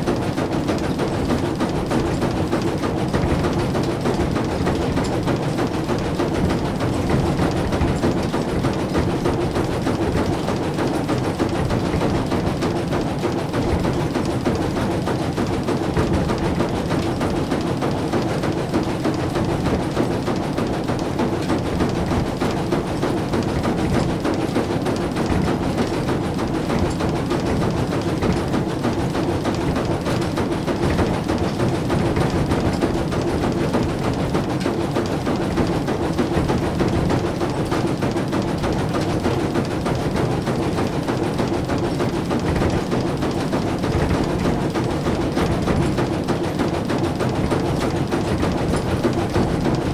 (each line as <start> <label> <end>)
0.0 Two wooden boxes that filter the floor and constantly swing 49.9